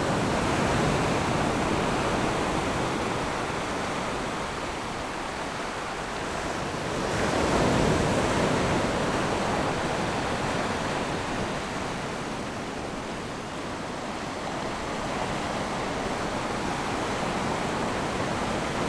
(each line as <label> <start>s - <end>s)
Waves and tides 0.0s - 18.8s